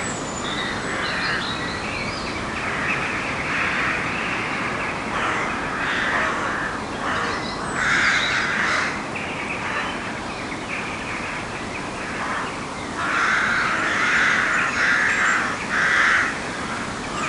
12.2s Competing Crow Colonies 17.2s

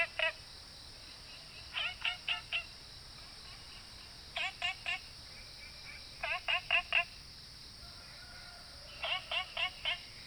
0.0s Insects called 7.6s
1.1s Frogs chirping 7.3s
8.0s Frogs chirping 10.2s
8.9s Insects called 10.2s

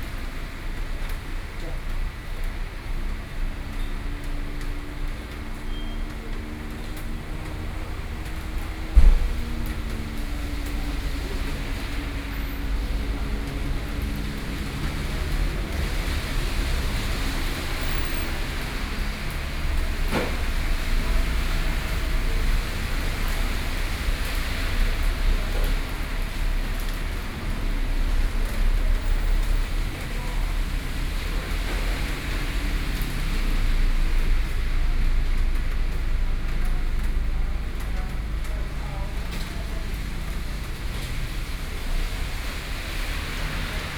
0.0s Rainy Day 43.9s

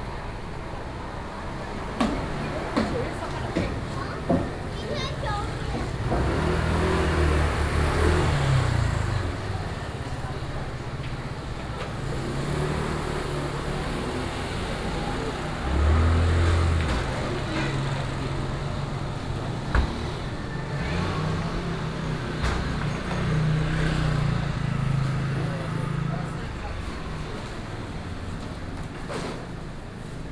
0.0s Traffic Sound 30.3s
0.0s Walking in a small alley 30.3s

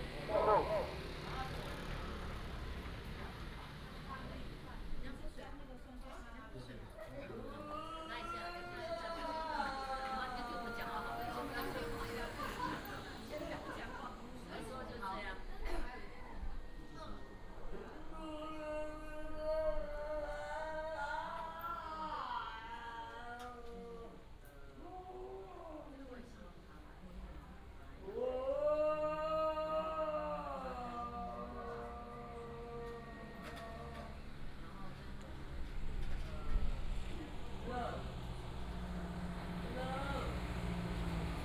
0.0s traffic sound 5.9s
8.4s traffic sound 15.6s
30.6s traffic sound 41.4s

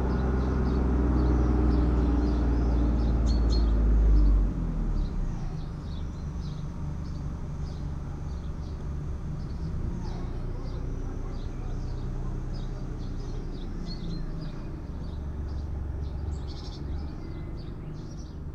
4.8s lawnmowers 18.3s

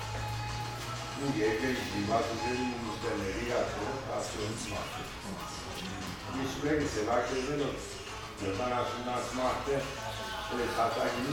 1.1s old client is discussing with the old baker 11.3s

